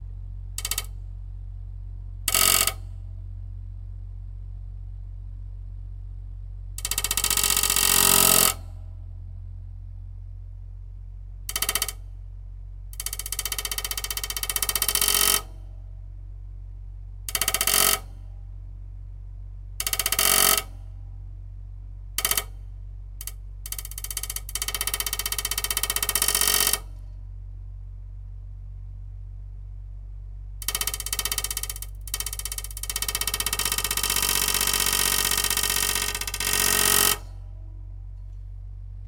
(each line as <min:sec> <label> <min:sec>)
0:00.6 Stick in fan 0:01.0
0:06.8 Stick in fan 0:08.7
0:11.5 Stick in fan 0:12.0
0:12.9 Stick in fan 0:15.5
0:17.3 Stick in fan 0:18.1
0:19.8 Stick in fan 0:20.8
0:22.2 Stick in fan 0:22.6
0:23.2 Stick in fan 0:27.0
0:30.6 Stick in fan 0:37.4